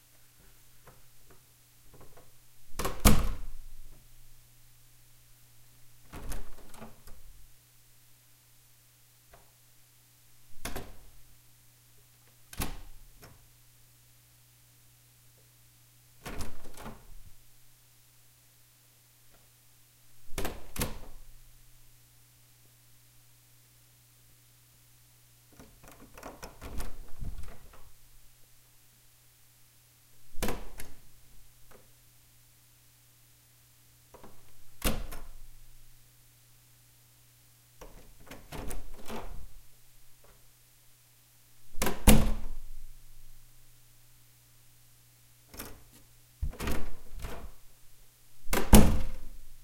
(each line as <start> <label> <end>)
1.9 opening and closing a large wooden door 4.0
6.0 opening and closing a large wooden door 7.4
10.5 opening and closing a large wooden door 11.2
12.5 opening and closing a large wooden door 13.5
16.2 opening and closing a large wooden door 17.4
20.2 opening and closing a large wooden door 21.3
25.6 opening and closing a large wooden door 28.0
30.3 opening and closing a large wooden door 31.1
34.1 opening and closing a large wooden door 35.6
37.8 opening and closing a large wooden door 39.7
41.7 opening and closing a large wooden door 42.9
45.5 opening and closing a large wooden door 47.6
48.4 opening and closing a large wooden door 49.4